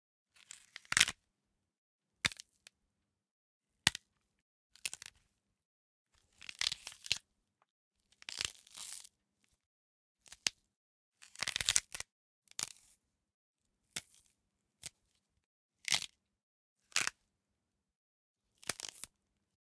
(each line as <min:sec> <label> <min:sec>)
0:00.5 Crunch of bones 0:01.2